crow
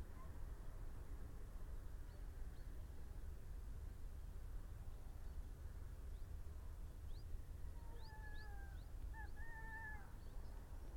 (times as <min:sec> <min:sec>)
0:07.9 0:10.2